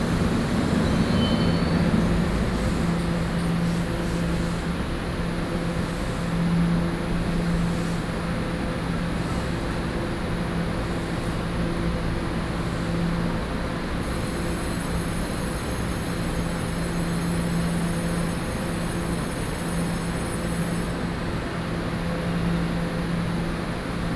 0.0s traffic sound 4.6s
0.0s Traveling by train 24.1s

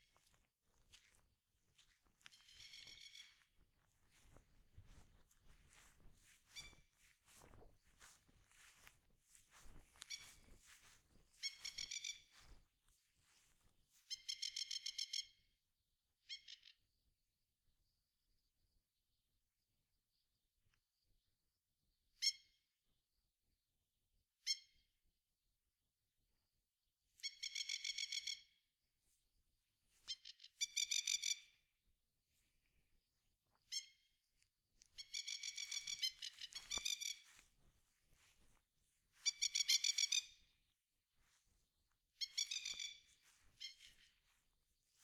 2.3s Magpie calling 3.4s
11.4s Magpie calling 12.3s
30.1s Magpie calling 31.5s
35.0s Magpie calling 37.2s
39.2s Magpie calling 40.4s
42.2s Magpie calling 44.1s

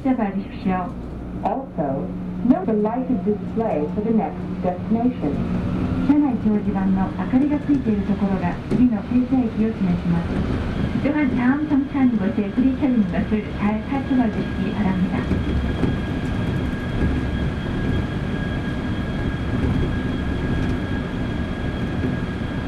0.0s bilingual announcements 15.4s
0.0s shuttle subway train 22.6s

